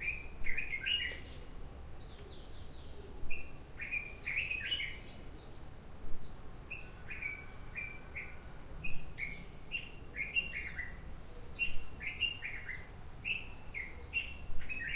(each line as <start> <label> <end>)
0.0 birdsong 14.9